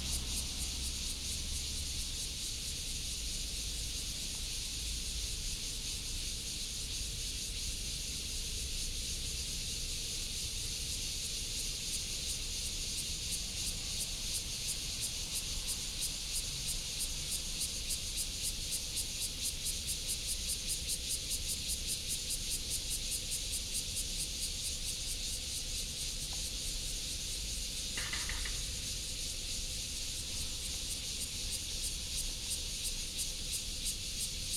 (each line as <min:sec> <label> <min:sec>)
0:00.0 traffic sound 0:01.9
0:00.0 Cicada cry 0:34.5